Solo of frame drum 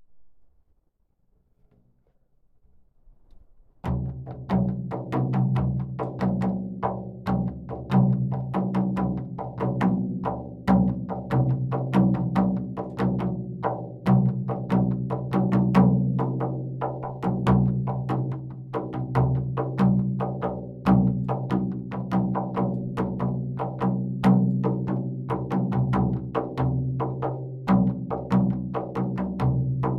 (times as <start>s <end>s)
3.4s 16.5s